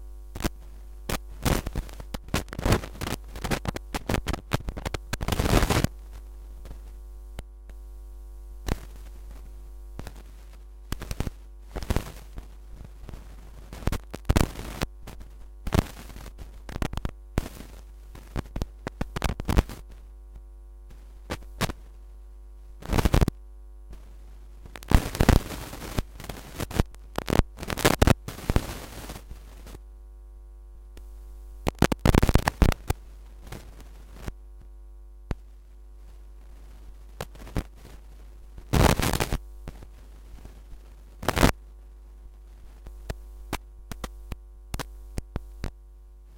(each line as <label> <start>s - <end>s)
hum 0.0s - 46.3s
static 0.0s - 46.3s
vinyl scratch 31.7s - 32.9s
vinyl scratch 38.7s - 39.4s